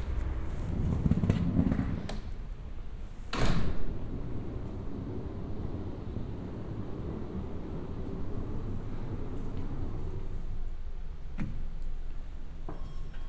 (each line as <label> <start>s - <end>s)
elevator 0.0s - 10.7s
escalators 0.0s - 13.2s
idling train 3.9s - 10.6s